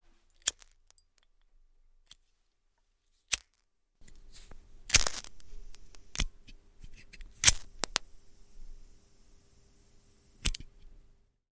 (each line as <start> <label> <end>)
4.0 cigarette lighter 11.0